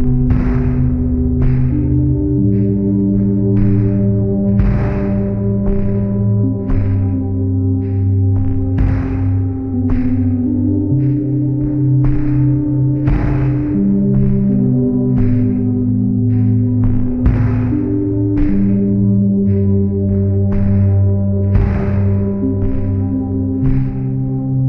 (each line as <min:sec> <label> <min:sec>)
0:00.0 bass 0:24.6
0:00.0 drones 0:24.6
0:00.0 drums 0:24.6
0:00.0 pads 0:24.6